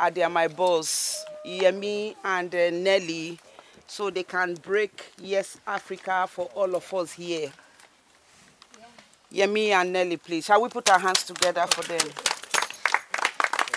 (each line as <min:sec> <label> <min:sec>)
0:00.0 introduce themselves and the organization 0:07.6
0:00.0 African people, their friends and families are gathering 0:13.7